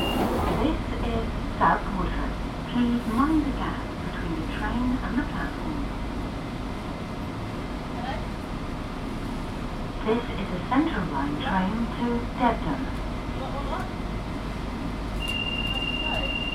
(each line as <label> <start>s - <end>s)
Driver announcements 0.0s - 5.9s
underground train (tube train) travelling 0.0s - 16.5s
Driver announcements 10.0s - 13.9s
Driver announcements 15.2s - 16.5s